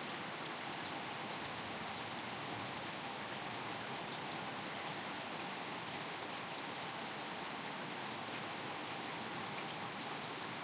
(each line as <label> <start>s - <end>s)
Pouring rain 0.0s - 10.6s